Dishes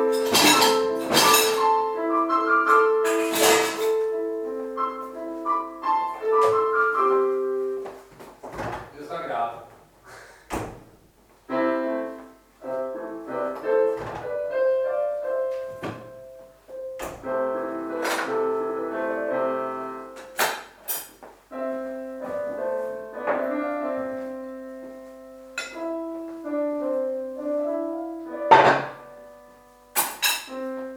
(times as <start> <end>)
0.0 1.8, 2.7 4.1, 25.6 25.8, 30.0 30.6